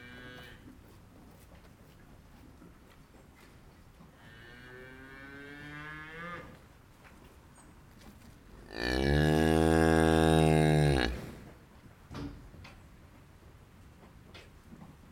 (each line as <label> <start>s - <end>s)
Cows are hungry as always 0.0s - 15.1s